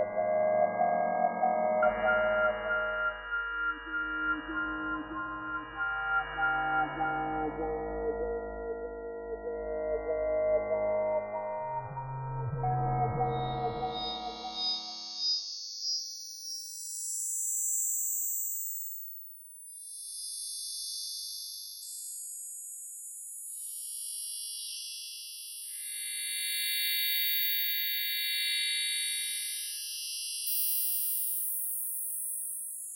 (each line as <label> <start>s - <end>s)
synth 0.0s - 15.2s